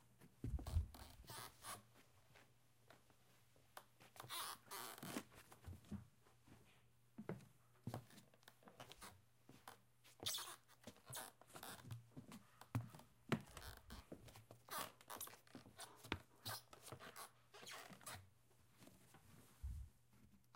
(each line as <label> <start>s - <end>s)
Squeaky floorboard 0.4s - 1.9s
Squeaky floorboard 4.1s - 5.3s
Squeaky floorboard 8.8s - 18.3s